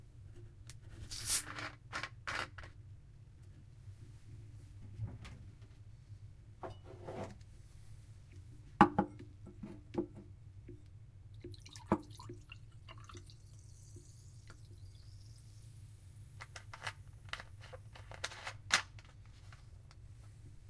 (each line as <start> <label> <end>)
1.1 soda/pop/fizzy drink bottle being opened 1.6
11.5 drink is poured into a glass 15.7